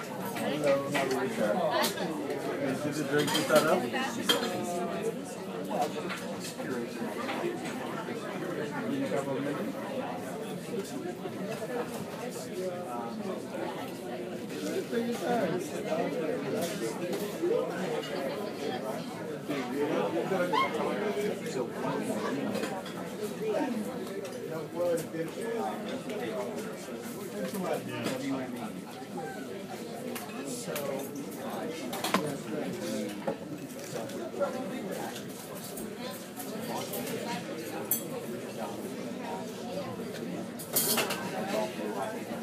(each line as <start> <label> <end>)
0.1 people talking 42.4
40.6 clanging plates and glasses and forks and knives 41.2